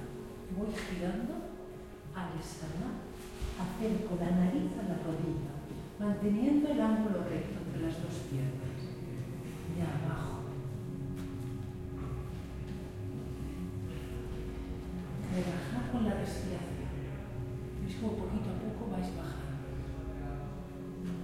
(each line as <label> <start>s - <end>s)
yoga lesson 0.0s - 21.2s